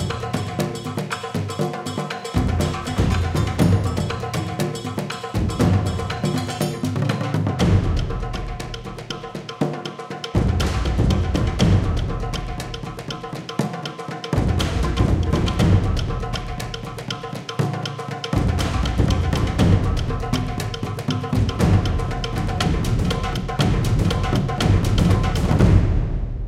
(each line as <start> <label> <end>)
0.0 dozens of drums 26.4